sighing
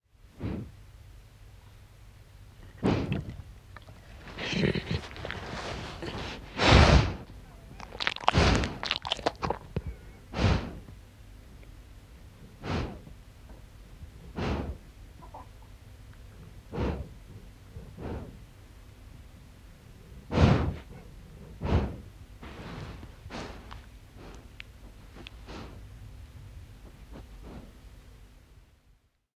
2.7 7.2

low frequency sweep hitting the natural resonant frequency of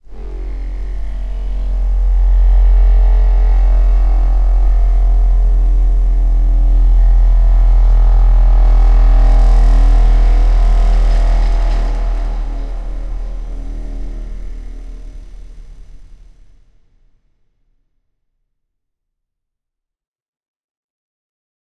0.0 16.6

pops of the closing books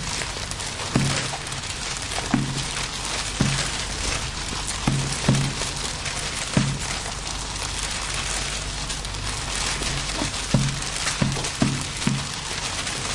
0.9 7.3, 9.6 13.1

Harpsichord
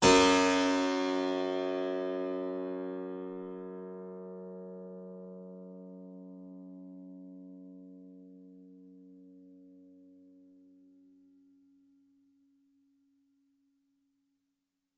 0.0 3.3

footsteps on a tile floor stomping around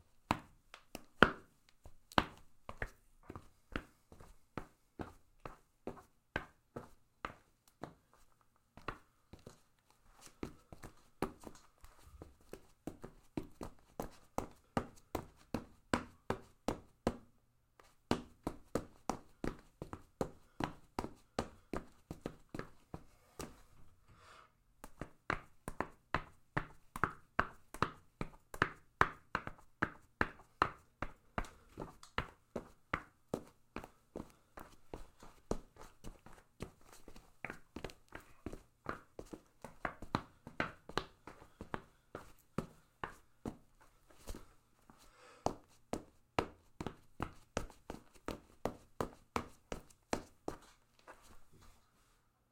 24.8 51.8

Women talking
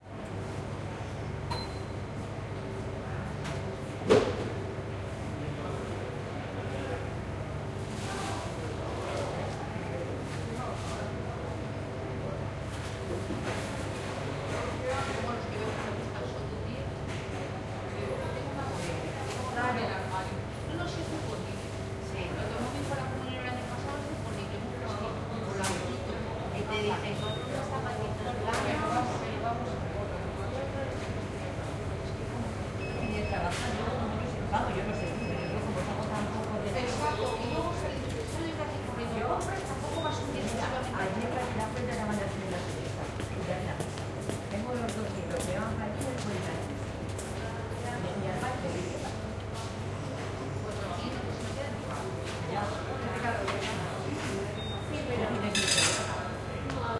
32.9 46.8, 47.4 49.4

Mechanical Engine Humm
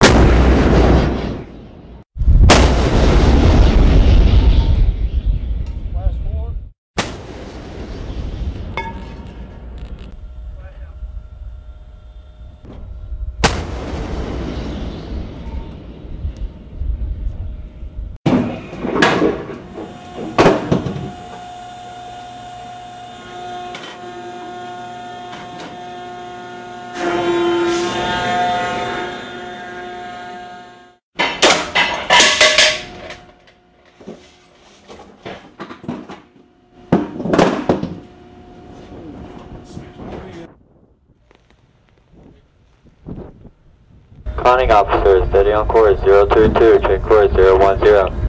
9.2 13.4, 16.1 31.0, 36.2 48.2

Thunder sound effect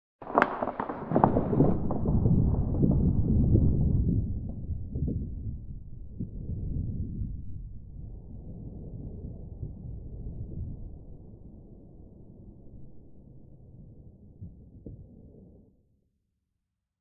0.3 11.3

